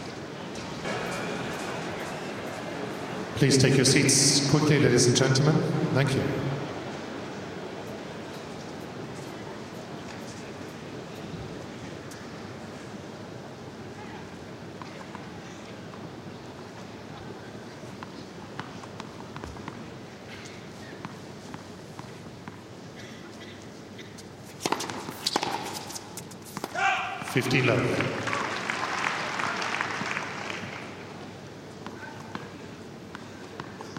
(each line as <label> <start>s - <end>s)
tennis match 0.0s - 33.9s
crowd reaction 0.8s - 3.6s